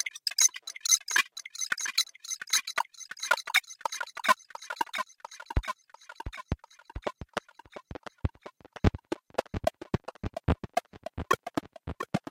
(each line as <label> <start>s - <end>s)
bleeps 0.0s - 5.6s